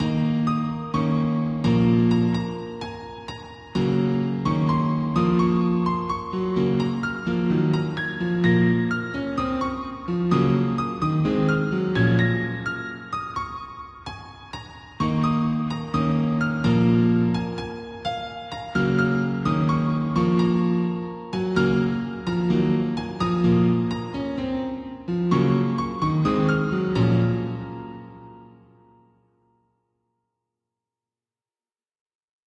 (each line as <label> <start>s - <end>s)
Piano 0.0s - 30.3s